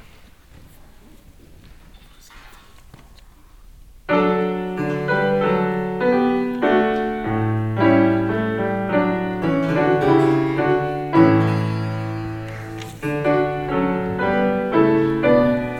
4.1s klavier vorspiel 15.7s

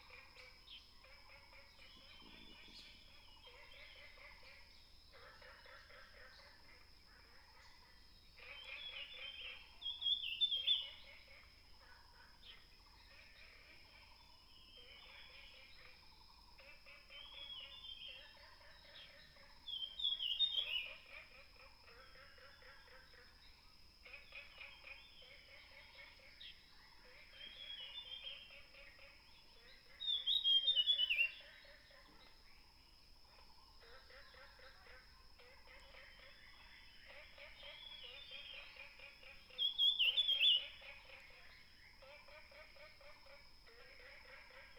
0.0s Frogs chirping 44.7s
8.5s Birds singing 11.6s
19.0s Birds singing 21.0s
26.4s Birds singing 32.4s
35.0s Birds singing 42.3s

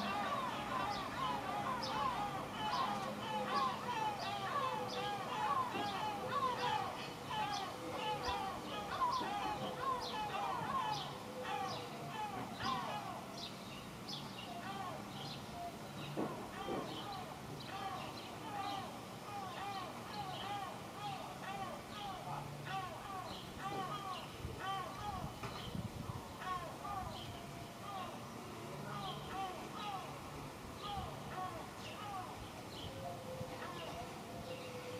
0.0s Seagulls 13.1s

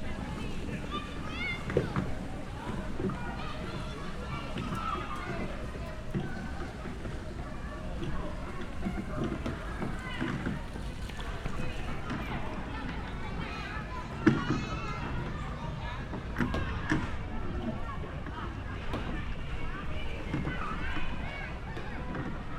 0.0s people sailling small wooden boats 22.5s

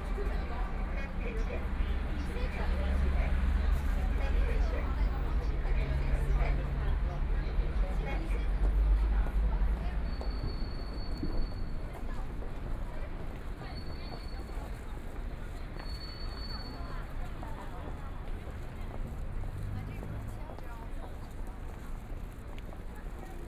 0.0s crowd 23.4s
14.3s Traffic Sound 23.4s

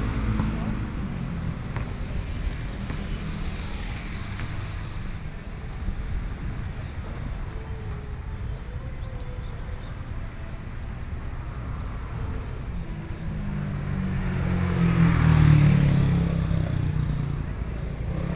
0.0s Buskers 18.3s
0.0s Traffic Sound 18.3s

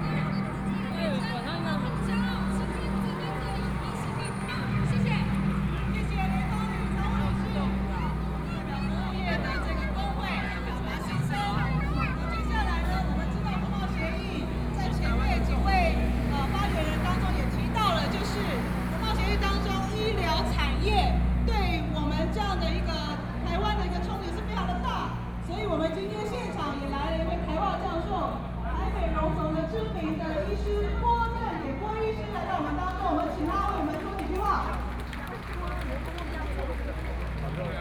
0.0s People and students 37.8s

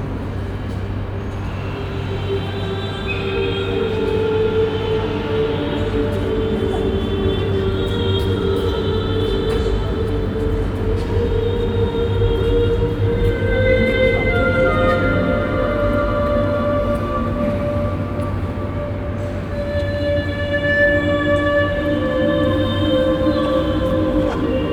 0.0s choir recording that is being play backed inside and echoes 24.7s

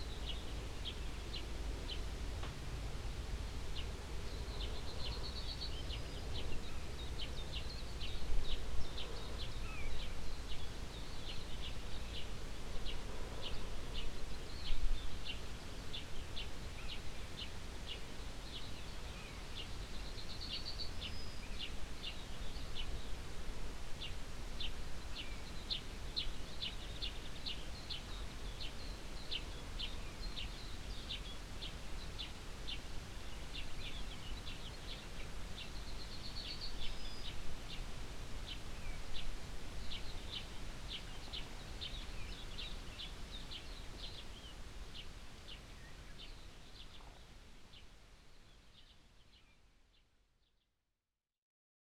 0.0s mellow morning wind coming uphill from the fields 50.1s

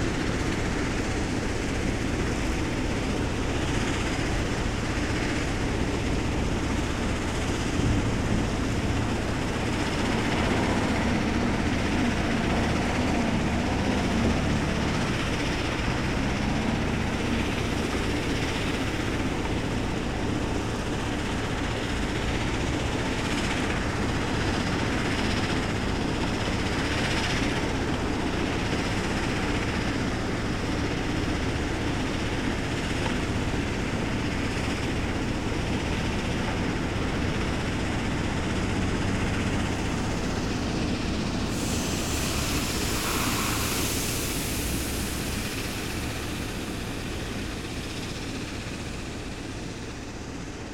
40.8s Workers are extracting sand 49.3s

